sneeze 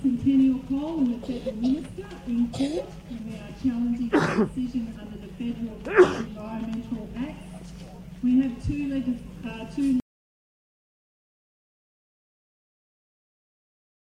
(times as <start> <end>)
4.1 4.5, 5.9 6.3